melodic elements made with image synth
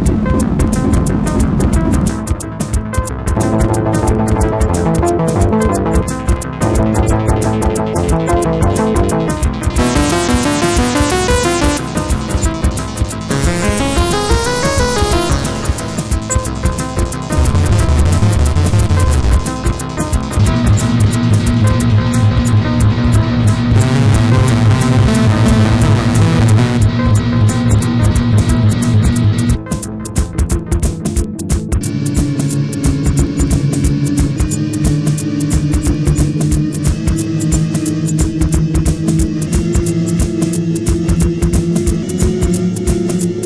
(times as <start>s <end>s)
9.8s 12.6s, 13.2s 19.2s, 23.8s 26.9s